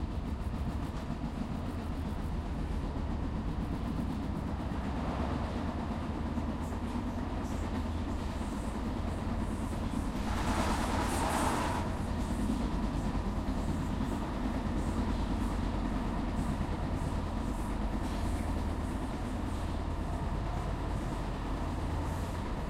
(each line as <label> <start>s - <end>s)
interior train 0.0s - 22.6s
other train passes 0.0s - 22.6s